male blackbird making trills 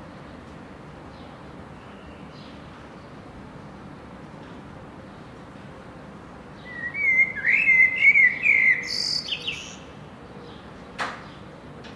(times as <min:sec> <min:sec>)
0:06.7 0:09.8